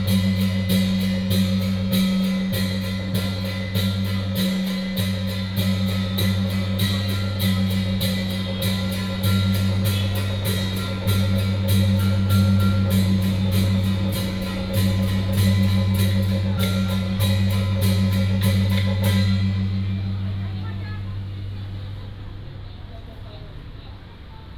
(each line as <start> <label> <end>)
0.0 Pilgrimage group 22.6
0.0 Traffic sound 24.5